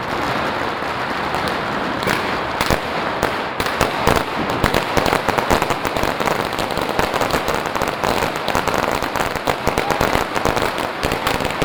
Fireworks 0.0 - 11.6
People 9.5 - 11.2

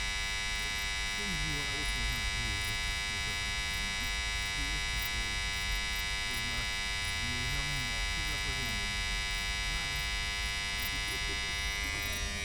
night crickets 0.0 - 12.4

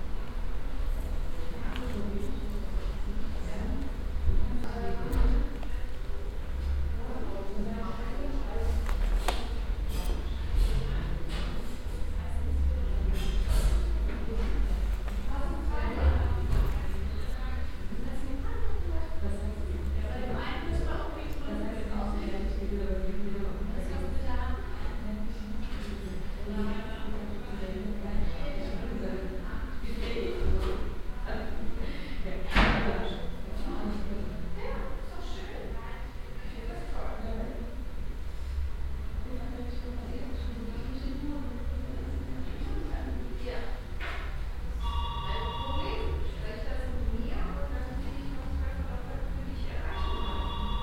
people talking in a reverbing room 0.0 - 50.8
receptionists talking to patients 0.6 - 50.8
telephone 44.8 - 46.2
beeping signal from a machine 44.8 - 46.2
doorbells 44.8 - 46.1
beeping signal from a machine 49.9 - 50.8
telephone 49.9 - 50.8
doorbells 50.0 - 50.8

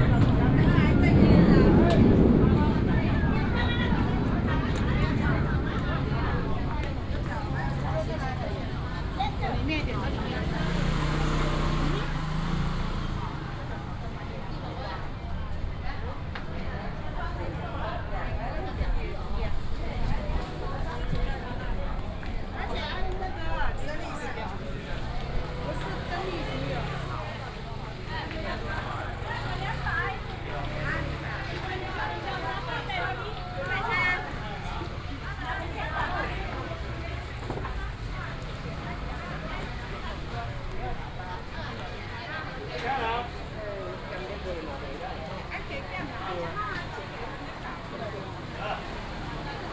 vendors peddling 0.0 - 49.7

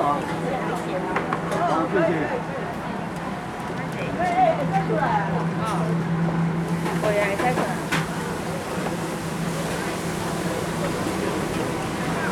Many vendors 0.0 - 12.3

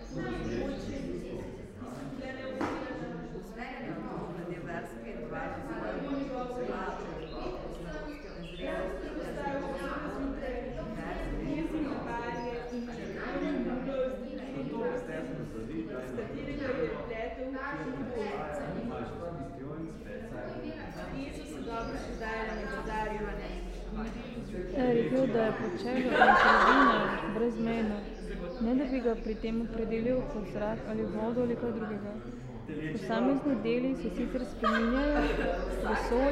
Public reading 19.9 - 36.3

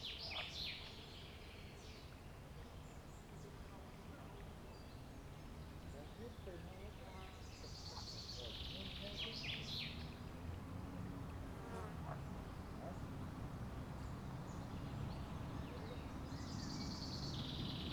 birds 11.2 - 17.9

